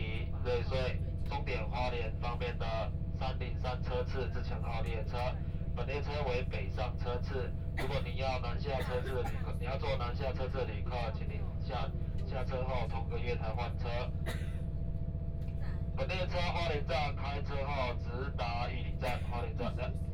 0.0s Train message broadcasting 14.4s
16.0s Train message broadcasting 20.1s

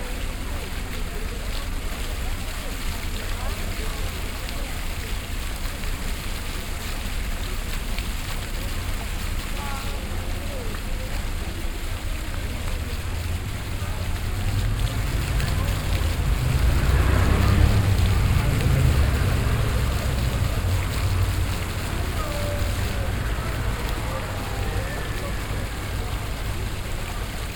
0.0s floor fountain 27.5s
0.0s passengers walking by 27.5s
1.2s passing traffic 27.5s
9.3s group of alcohol drinking people 27.5s

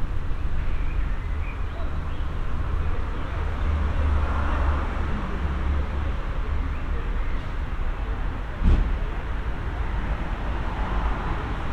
0.0s cars 11.7s

